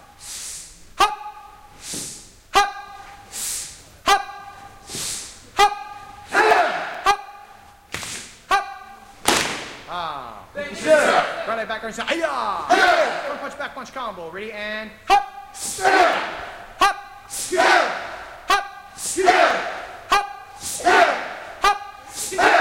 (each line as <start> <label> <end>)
0.0 Students practice hard 22.6
2.5 Instructor who is calling out the moves 3.3
4.0 Instructor who is calling out the moves 7.6
8.5 Instructor who is calling out the moves 9.1
9.8 Instructor who is calling out the moves 22.6